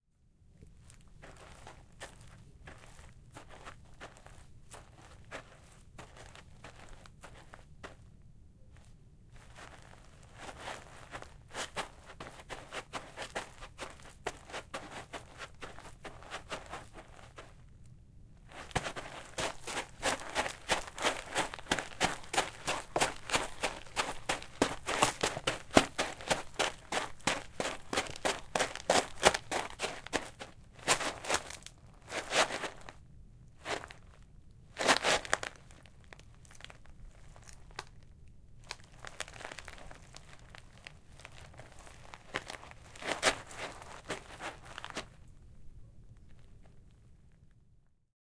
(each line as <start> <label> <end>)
0.9 Walking on gravel 8.0
8.8 Walking on gravel 17.6
9.4 Sand and stone movement 17.6
9.4 running on gravel 17.5
9.4 jogging 17.6
18.4 Sand and stone movement 33.0
18.4 Walking on gravel 33.0
18.5 jogging 33.0
18.5 running on gravel 33.0
33.6 Walking on gravel 34.2
33.6 running on gravel 34.1
34.8 Sand and stone movement 37.8
34.8 Walking on gravel 38.0
34.8 jogging 36.0
34.8 running on gravel 37.9
38.6 Walking on gravel 45.2
38.7 jogging 45.1
38.7 Sand and stone movement 45.1
38.7 running on gravel 45.1